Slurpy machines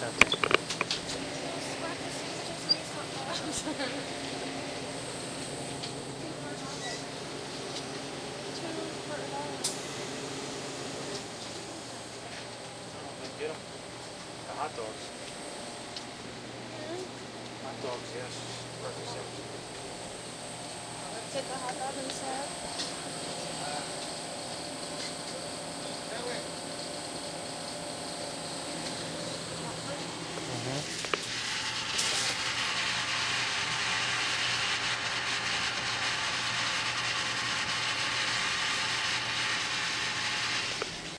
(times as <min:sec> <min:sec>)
0:23.6 0:41.1